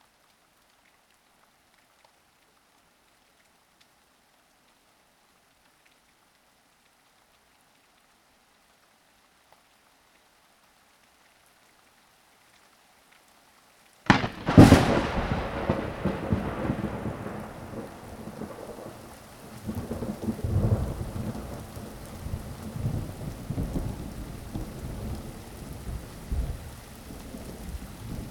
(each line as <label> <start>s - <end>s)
rain 0.0s - 28.3s
wind 0.0s - 28.3s
thunder 14.1s - 28.3s